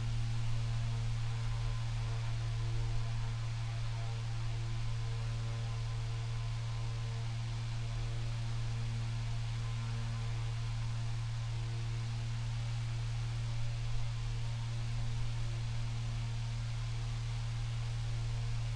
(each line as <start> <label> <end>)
0.0 electric fan 18.7